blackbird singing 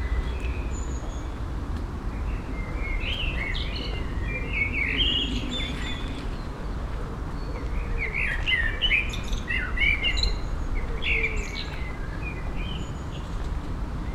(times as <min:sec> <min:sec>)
0:02.6 0:06.5, 0:07.4 0:13.2